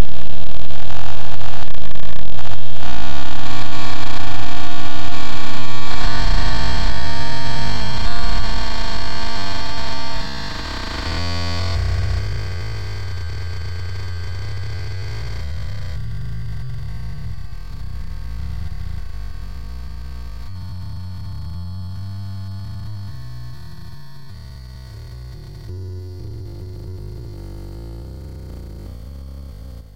internal data traffic on inside of a computer 0:00.0 - 0:29.1

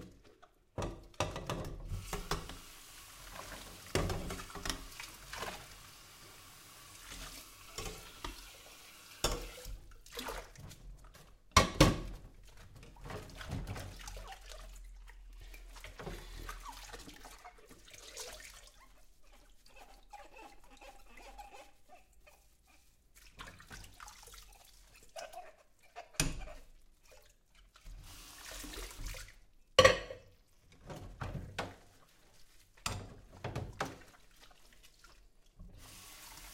dishes 0:00.8 - 0:02.6
dishes 0:09.2 - 0:09.8
dishes 0:24.9 - 0:26.7
dishes 0:29.8 - 0:30.4

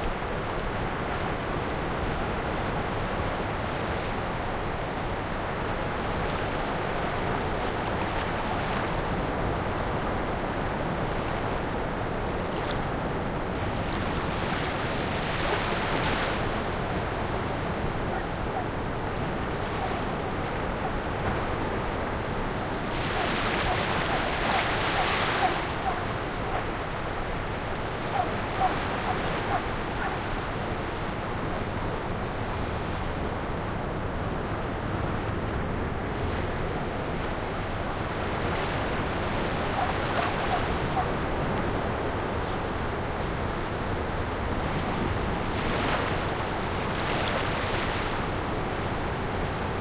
waves 0:00.0 - 0:49.8

